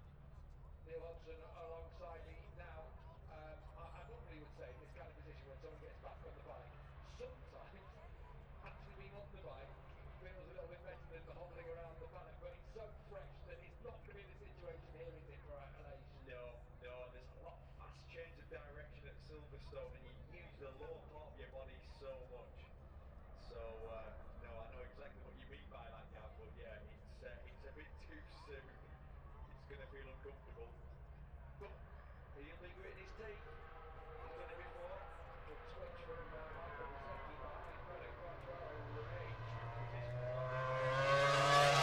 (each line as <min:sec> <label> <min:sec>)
0:00.0 motorcycle grand prix 0:41.8